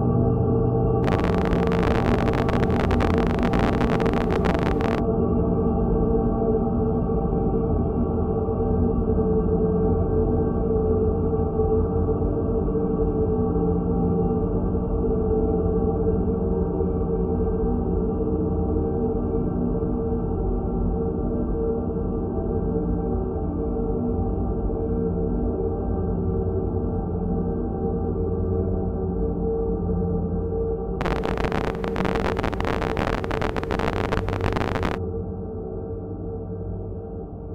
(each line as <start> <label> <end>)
1.0 heavily reverberated distortion 5.0
31.0 heavily reverberated distortion 35.0